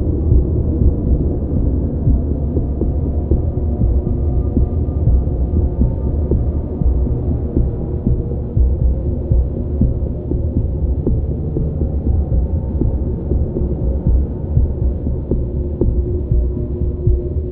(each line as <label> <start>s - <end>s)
Drone 0.0s - 17.5s